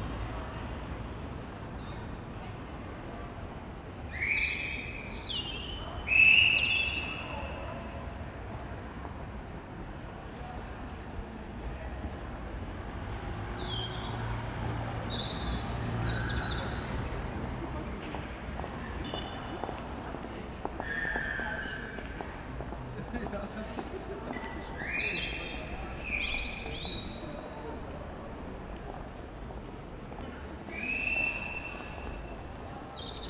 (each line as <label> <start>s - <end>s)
noisy weekend people 0.0s - 33.2s
solitude bird singing in a tree 4.0s - 7.7s
solitude bird singing in a tree 13.5s - 16.9s
solitude bird singing in a tree 24.4s - 27.6s
solitude bird singing in a tree 30.7s - 33.2s